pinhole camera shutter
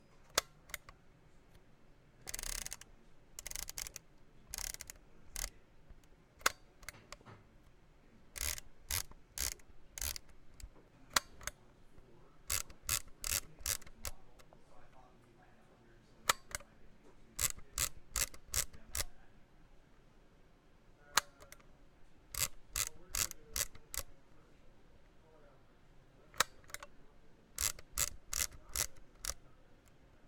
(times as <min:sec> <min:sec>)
0:02.3 0:02.8